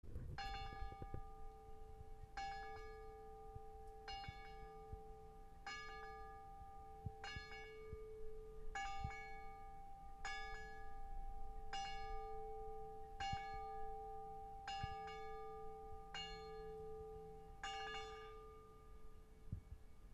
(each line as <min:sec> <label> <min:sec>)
0:00.4 midnight bells from church 0:19.4